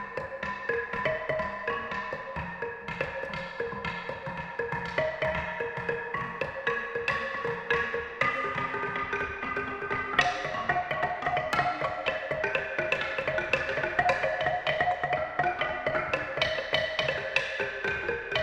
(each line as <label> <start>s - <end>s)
Traditional xylophone 0.0s - 18.4s